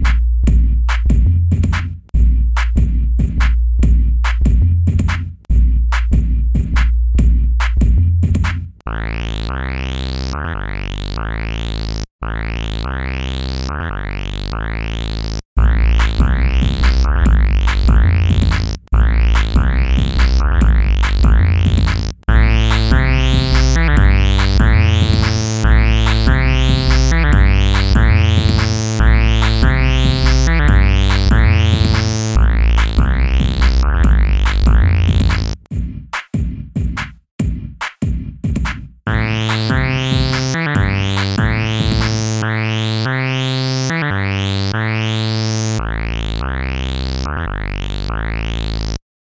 Drum 0.0 - 8.8
dubstep bass 8.9 - 35.7
Drum 15.6 - 42.4
synth 19.0 - 21.7
synth 22.3 - 35.6
synth 39.1 - 49.0
dubstep bass 39.1 - 49.0

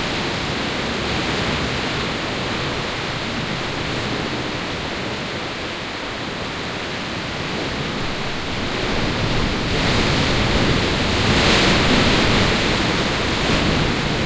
waves 0.0 - 14.2

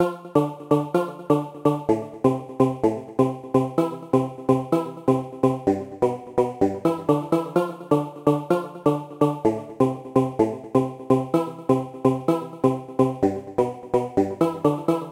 music 0.0 - 15.1

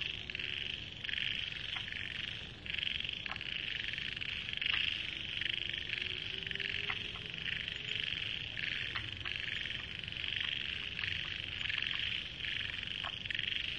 Frogs 0.0 - 13.7
Insects 0.0 - 13.7

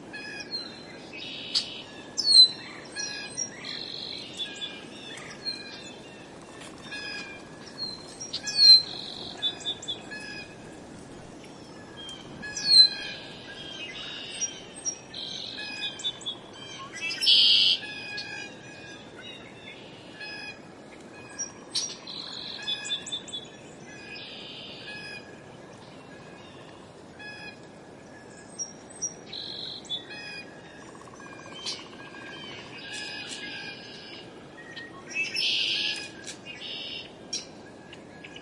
Northern Cardinal 0.0 - 38.4
wind rustling through the trees 0.0 - 38.4
Song Sparrow 0.1 - 38.4
Red-winged Blackbird 0.1 - 20.6
Northern Flicker 0.2 - 18.4
Red-winged Blackbird 21.2 - 27.6
Red-winged Blackbird 28.2 - 38.4

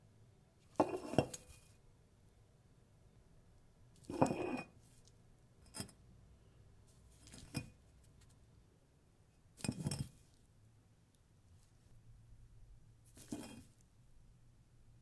picking a brick up off a tile counter top 0.7 - 1.8
brick 0.7 - 1.7
picking a brick up off a tile counter top 4.0 - 6.0
brick 4.0 - 4.8
picking a brick up off a tile counter top 7.1 - 8.3
brick 7.2 - 7.7
brick 9.6 - 10.3
picking a brick up off a tile counter top 9.6 - 10.4
picking a brick up off a tile counter top 13.1 - 13.8
brick 13.1 - 13.8

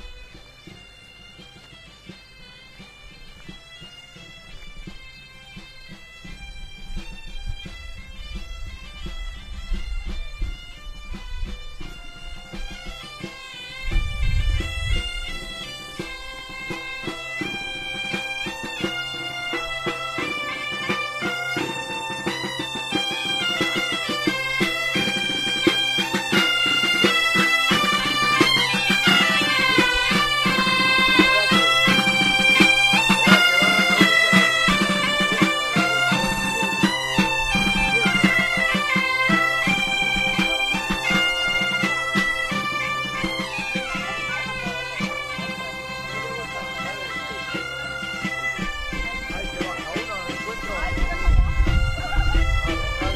bagpipes 0.0 - 53.1
people 0.0 - 53.1
wind 0.0 - 53.1

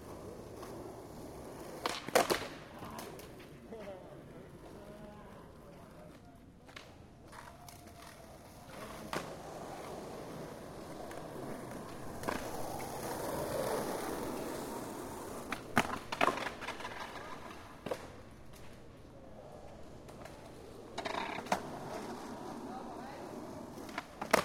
Skateboard 0.0 - 24.4
Skateboard crash 1.8 - 2.6
Skateboard crash 23.9 - 24.4

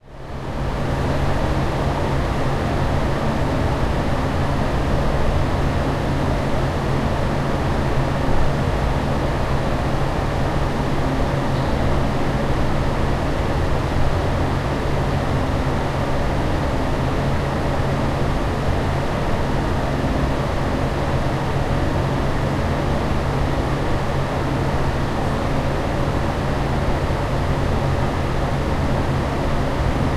loud toilet extractor fan 0.0 - 30.1

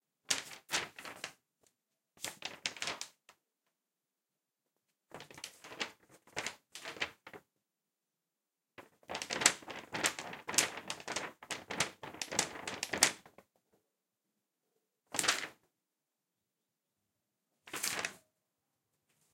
Handling Paper and flapping it 0.2 - 3.4
Handling Paper and flapping it 4.8 - 7.5
Handling Paper and flapping it 8.8 - 13.6
Handling Paper and flapping it 15.1 - 15.6
Handling Paper and flapping it 17.7 - 18.3

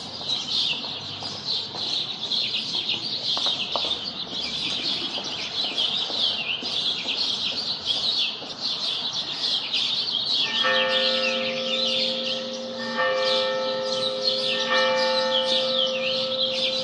ambient urban roar 0.0 - 16.8
exuberant birdsong 0.0 - 16.8
woman's heeled footsteps 3.4 - 8.6
church bells 10.3 - 16.8

